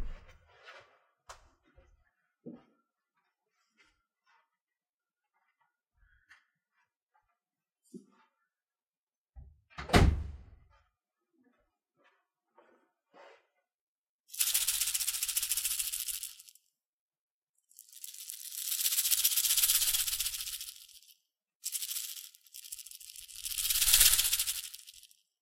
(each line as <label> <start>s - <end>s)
shaking my salt and pepper grinders 14.3s - 16.7s
shaking my salt and pepper grinders 17.6s - 25.4s